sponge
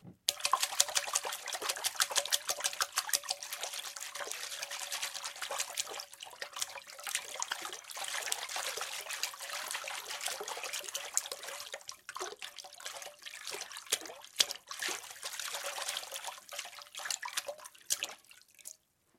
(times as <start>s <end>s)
0.3s 12.1s